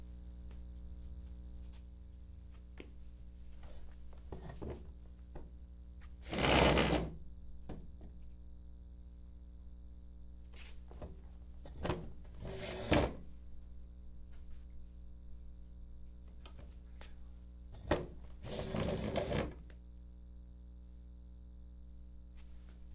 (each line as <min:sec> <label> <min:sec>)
0:06.2 Pulling a steel chair 0:07.1
0:12.4 Pulling a steel chair 0:13.2
0:18.4 Pulling a steel chair 0:19.6